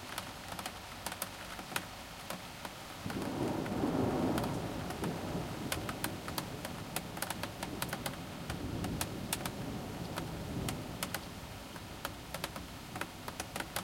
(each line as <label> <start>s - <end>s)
rain 0.0s - 13.8s
thunder 3.0s - 11.1s